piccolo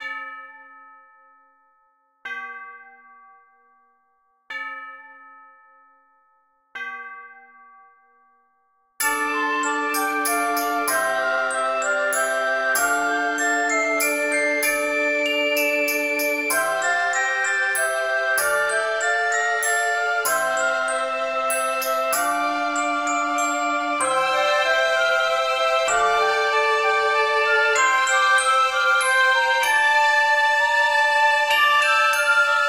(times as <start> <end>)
9.0 32.6